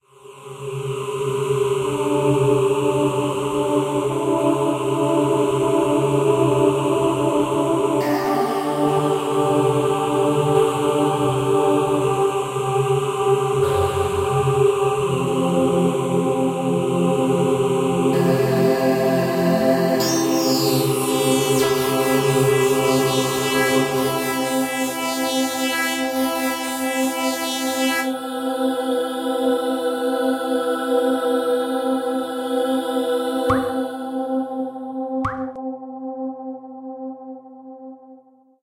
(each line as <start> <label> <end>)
19.9 Short piece of music 28.1